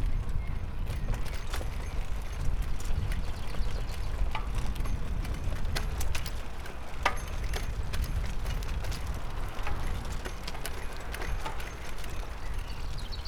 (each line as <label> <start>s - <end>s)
two bikes bouncing and clanking 0.0s - 13.2s